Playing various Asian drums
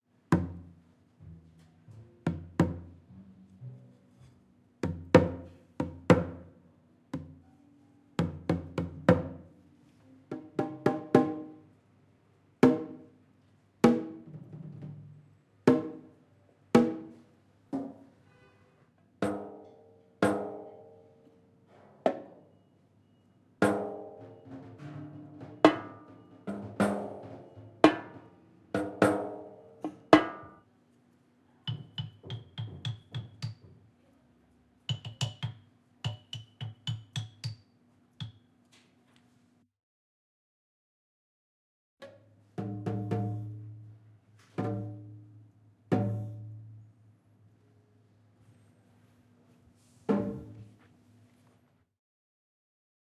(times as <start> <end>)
23.6 30.4, 42.6 43.6